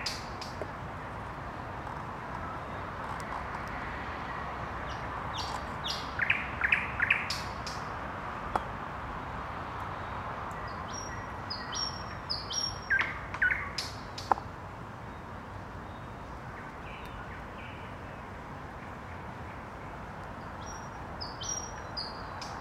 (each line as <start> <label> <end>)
4.8 night bird sounds 7.9
10.0 night bird sounds 14.4
20.4 night bird sounds 22.6